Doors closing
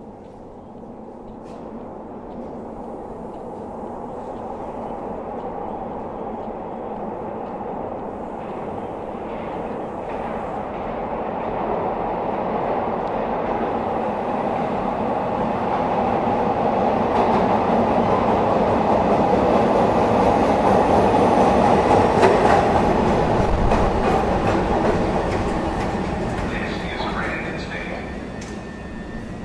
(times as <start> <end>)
21.0 29.4